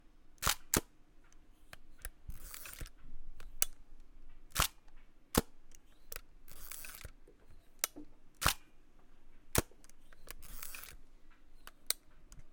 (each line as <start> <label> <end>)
0.4 hasselblad 500cm shutter 0.9
1.7 hasselblad 500cm shutter 3.8
2.3 winding a Hasselblad 500cm camera 2.9
4.5 hasselblad 500cm shutter 7.2
5.9 winding a Hasselblad 500cm camera 7.1
7.8 hasselblad 500cm shutter 8.7
9.5 hasselblad 500cm shutter 11.0
9.9 winding a Hasselblad 500cm camera 11.0